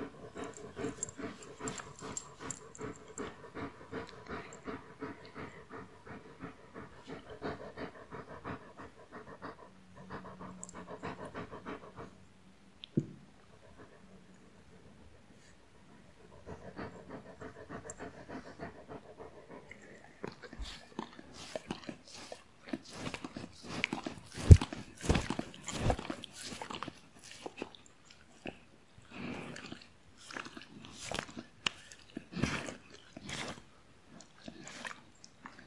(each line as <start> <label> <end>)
0.0 Dog Noises 12.2
0.0 panting 12.2
13.5 panting 27.6
16.0 Dog Noises 27.7